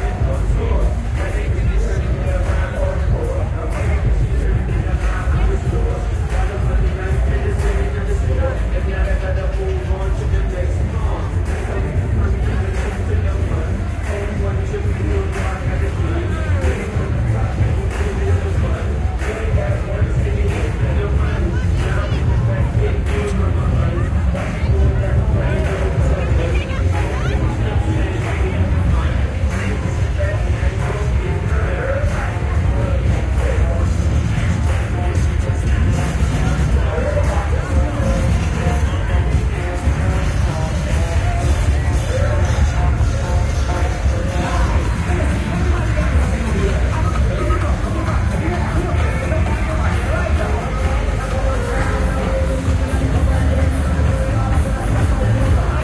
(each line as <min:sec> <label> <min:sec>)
0:00.0 Music chaos from multiple Bars and Clubs 0:55.8
0:00.0 Party on the street 0:55.8